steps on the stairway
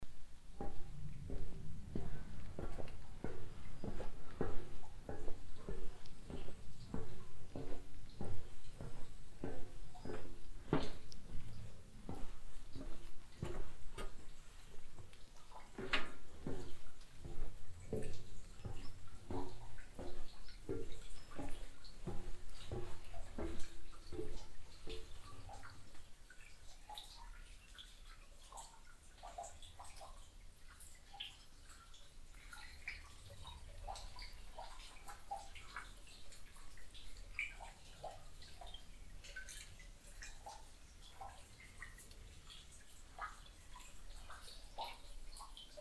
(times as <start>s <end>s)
0.5s 25.6s